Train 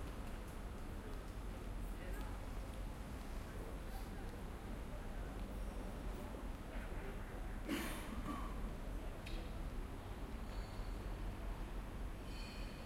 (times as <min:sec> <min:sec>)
0:09.9 0:12.8